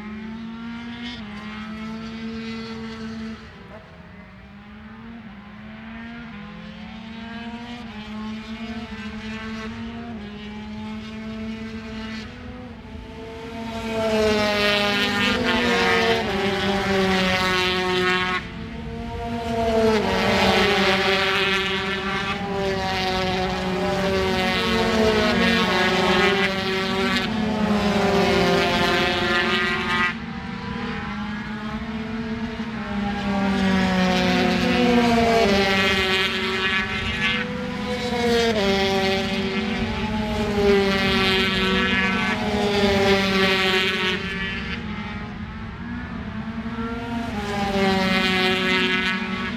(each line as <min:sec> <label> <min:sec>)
0:00.0 Motorcycle Grand Prix 0:49.5